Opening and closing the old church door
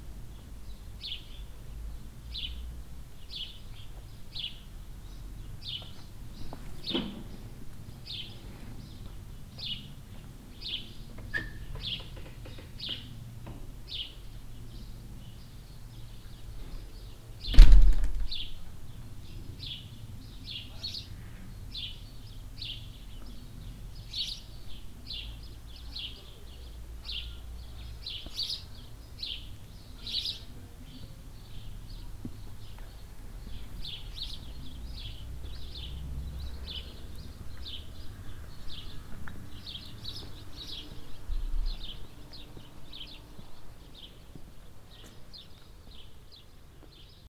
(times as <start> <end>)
6.7 7.6, 11.1 13.7, 17.4 18.6